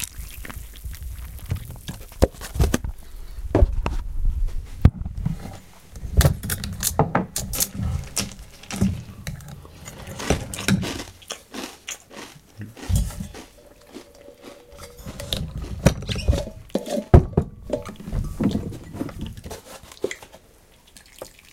0.0s eat 2.2s
0.0s cereal 2.7s
7.4s cereal 16.7s
7.5s eat 17.1s

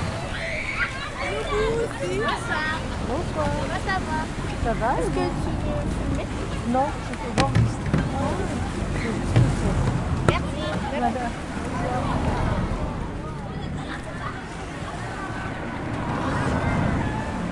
0.0s Children playing 17.5s
0.0s traffic 17.5s
0.0s waves 17.5s

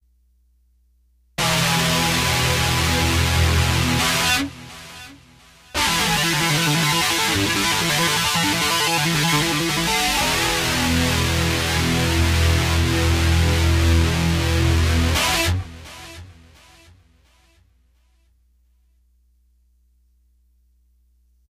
1.4s 'hammer' on guitar 17.5s

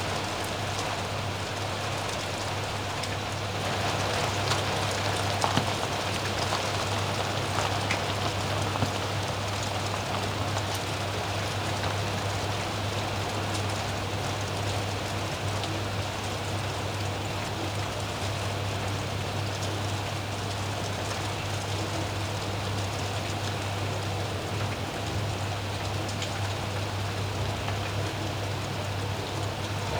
0.0s gentle rustle of nearby leaves 29.9s

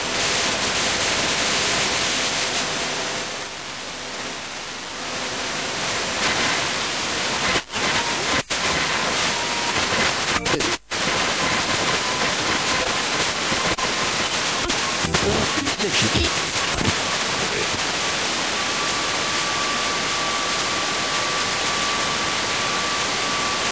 5.8s radio noise 20.6s

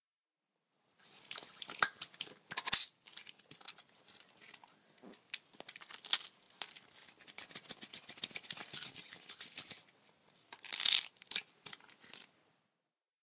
6.6s Washing hands with soap 9.9s

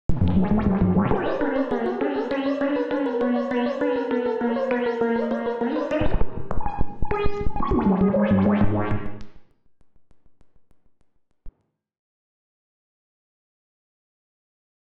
0.2s Optical Theremin 9.2s

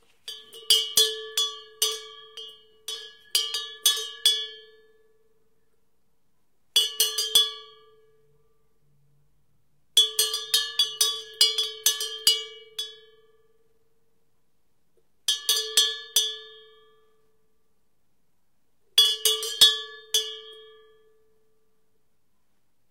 0.1s thin metal cow bell 5.1s
19.0s thin metal cow bell 21.2s

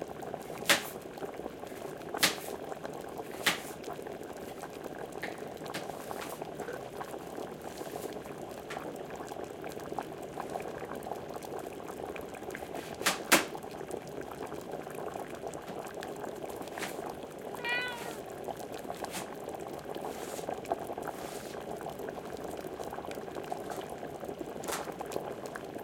0.0s boiling water 25.8s
17.6s meows 18.3s

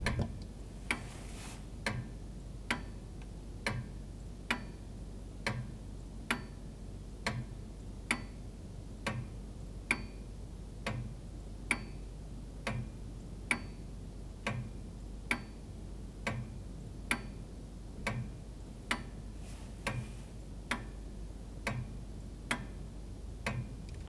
20.7s longcase clock ticking 24.0s

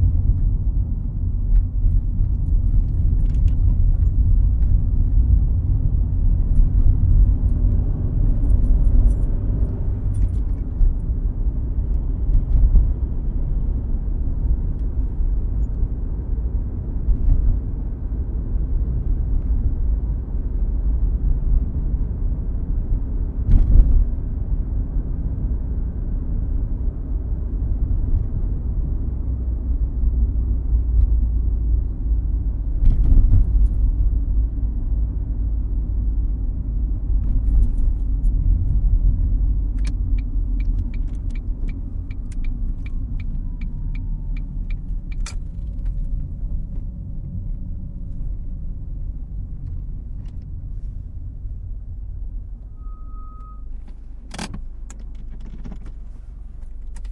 0.0s car engine 57.1s

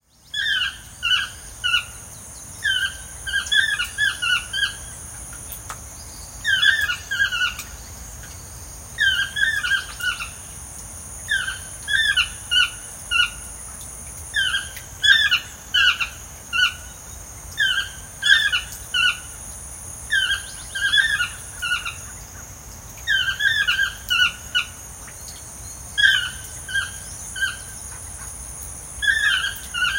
6.4s Toucans calling 7.7s
29.0s Toucans calling 29.9s

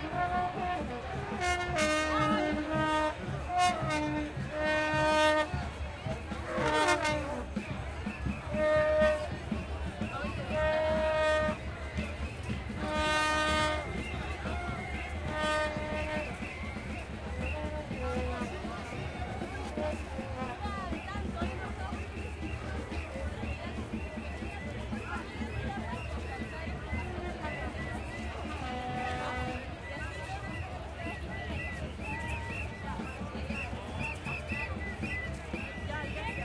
0.0s trutrucas 36.4s

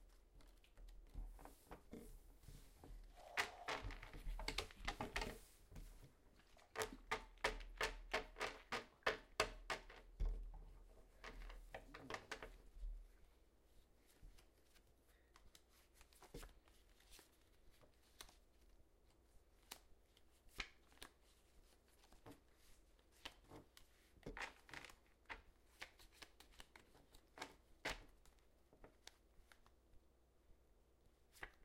0.0s Quietly playing cards 7.6s
13.2s Quietly playing cards 30.0s

